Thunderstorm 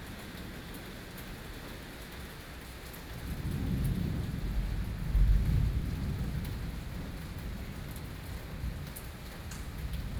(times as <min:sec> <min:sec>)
0:03.2 0:10.1